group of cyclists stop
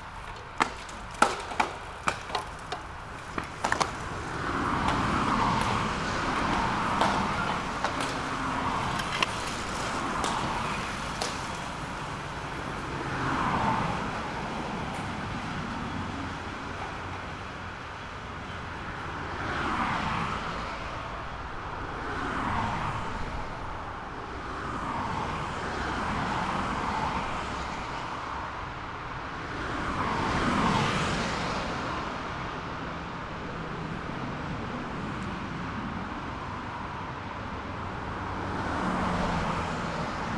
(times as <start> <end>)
0.0 13.0